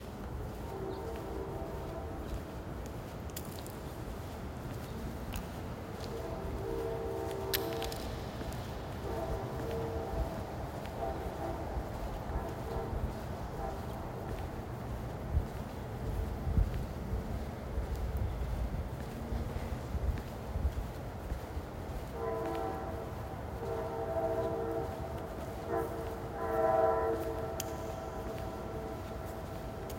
0.0s pedestrian walking on a leaf-covered sidewalk 29.9s
0.0s train as it rushes away 29.9s
0.4s train horn 2.7s
5.9s train horn 14.6s
22.0s train horn 29.9s

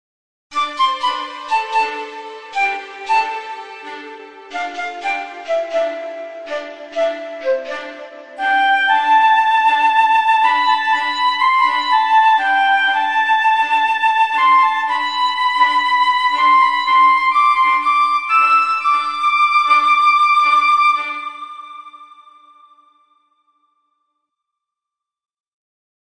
0.5s Strings 22.8s
0.5s Piccolo 22.8s
0.5s Flute 23.1s

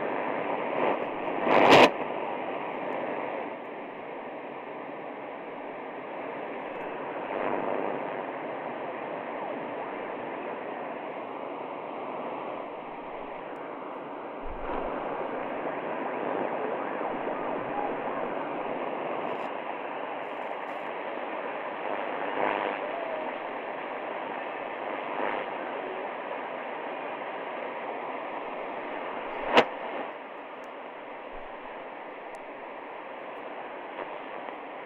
0.0s Tuning with interferences 34.8s
12.6s Manipulating with old radio reciever 13.8s
14.4s Manipulating with old radio reciever 15.7s
28.5s Manipulating with old radio reciever 34.6s

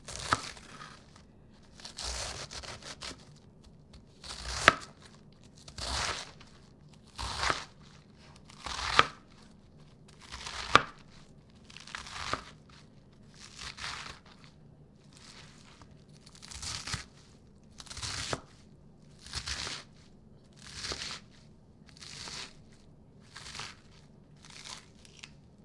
0.0s butcher knife was chopping a head of lettuce 25.6s

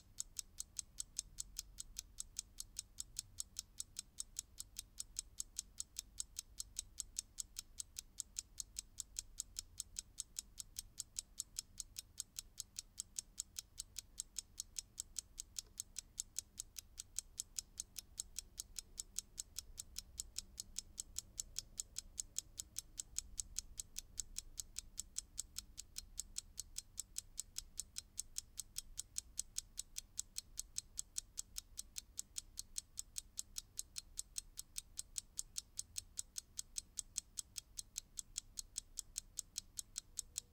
0.0s Mechanical alarm clock is ticking 40.5s

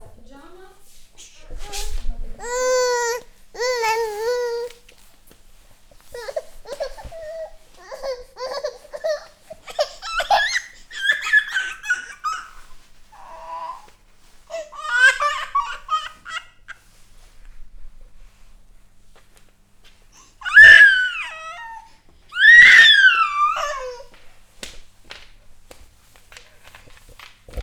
2.4s baby daughter crying 4.8s
6.1s baby daughter crying 13.9s
14.5s baby daughter crying 16.8s
20.4s baby daughter crying 24.2s

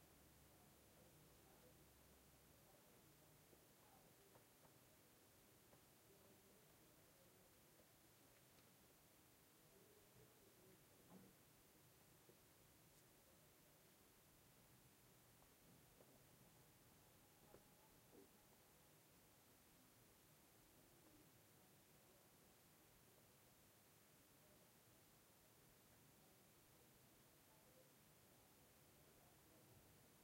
0.0s white noise 30.2s

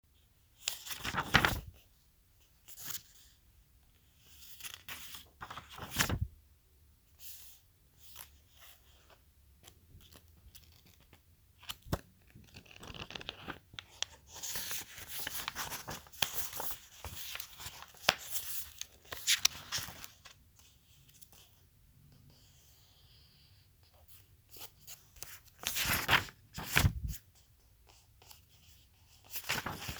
0.6s Book page flipping 1.8s
4.3s Book page flipping 6.3s
8.1s Book page flipping 21.5s
24.1s Book page flipping 27.2s
27.9s Book page flipping 29.9s

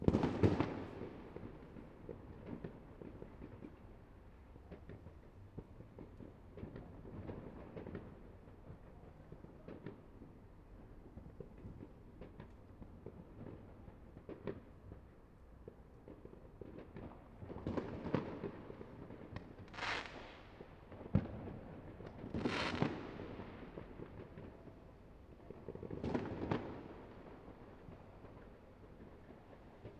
0.0s fireworks 29.9s

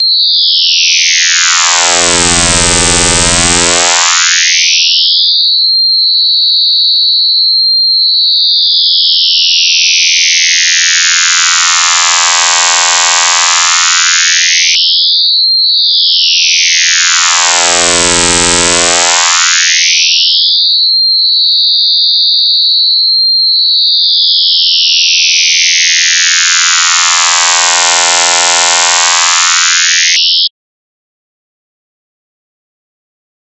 0.0s Long high pitch scream like noise with low frequency FM 5.1s
8.9s Long high pitch scream like noise with low frequency FM 15.0s
16.1s Long high pitch scream like noise with low frequency FM 20.4s
24.5s Long high pitch scream like noise with low frequency FM 30.5s

